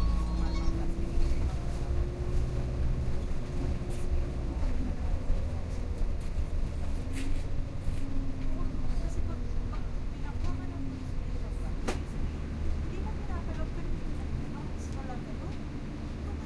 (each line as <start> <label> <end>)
0.0 bus 16.4
0.0 subway ride 16.4